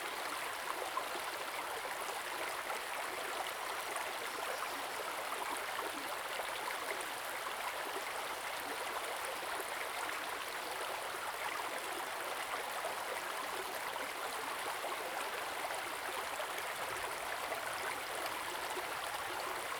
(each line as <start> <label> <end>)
0.0 stream 19.7